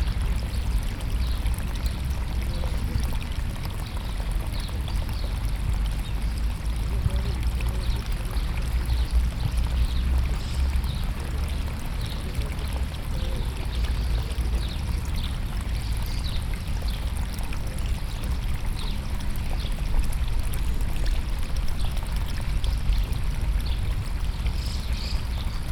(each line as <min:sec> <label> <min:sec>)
0:00.0 water 0:25.7